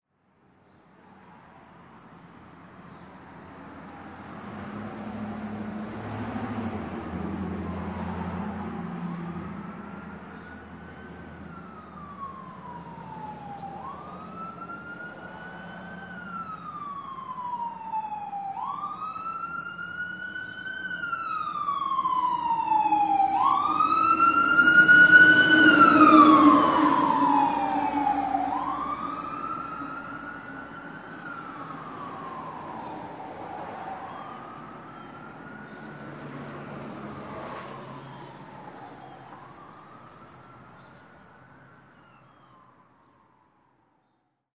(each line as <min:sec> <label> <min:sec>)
0:03.6 big fire engine passes 0:42.7
0:07.5 siren blaring 0:43.5